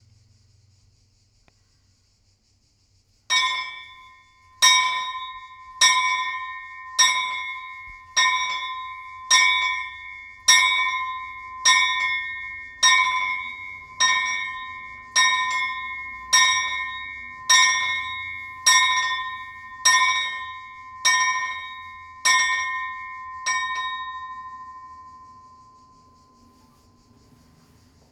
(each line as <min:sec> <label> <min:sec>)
0:03.3 Chapel bells 0:28.1